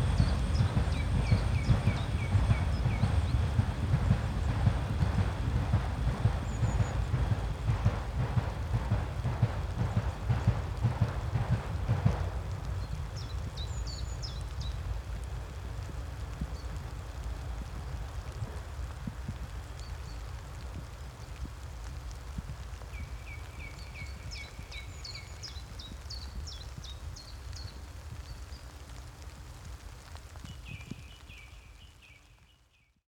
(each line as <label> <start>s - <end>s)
song thrush 0.0s - 14.8s
Train carrying brown coal 0.0s - 31.9s
rain 0.0s - 33.0s
song thrush 22.9s - 28.7s
song thrush 30.4s - 32.9s